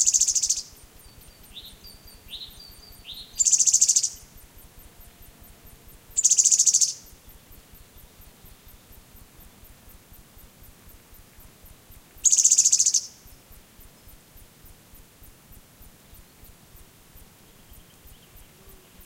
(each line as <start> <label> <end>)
0.0 different birds singing 4.2
0.0 insects buzzing 19.0
6.2 different birds singing 8.9
12.2 different birds singing 13.1